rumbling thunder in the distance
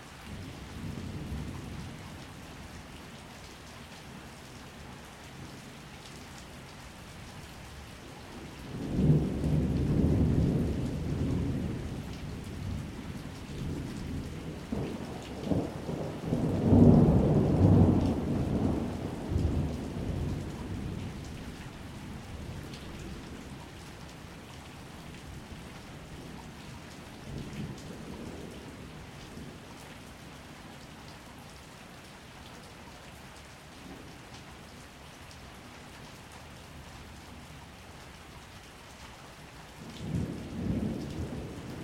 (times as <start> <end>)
8.8 21.6